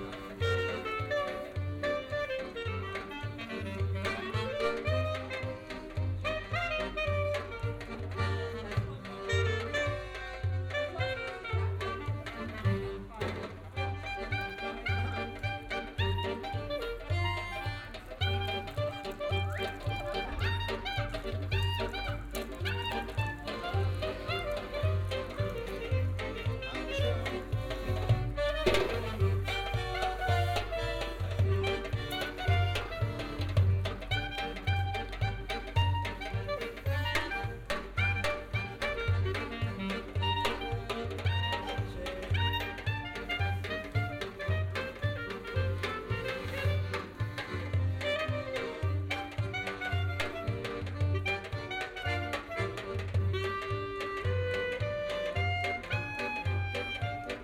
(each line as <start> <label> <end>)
0.0 street musicians 57.4